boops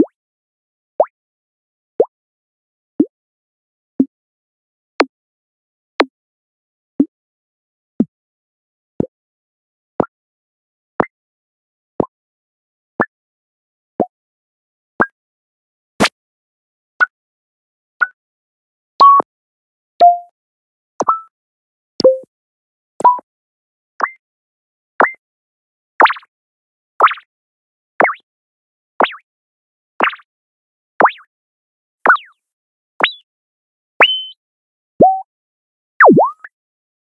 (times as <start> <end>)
34.0 34.4, 35.0 35.2, 36.0 36.5